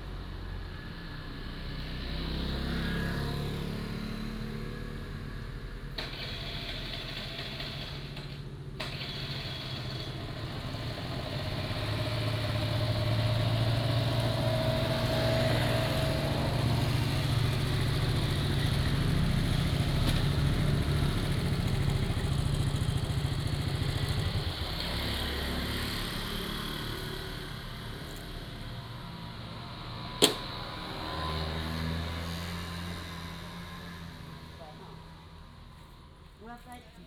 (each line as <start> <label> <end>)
0.0 Traffic Sound 37.0